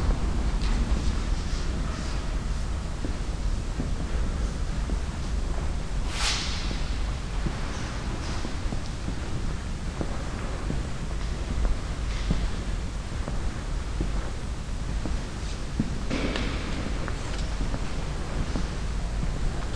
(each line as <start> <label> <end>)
0.0 silent whispers of the visitors 19.7
0.0 steps 19.7